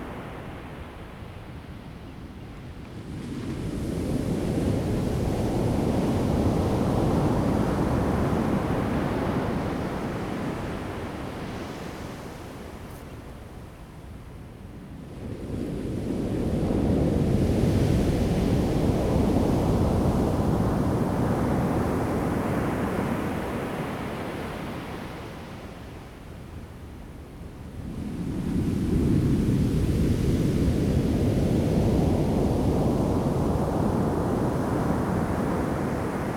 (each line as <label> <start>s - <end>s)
waves 17.2s - 36.3s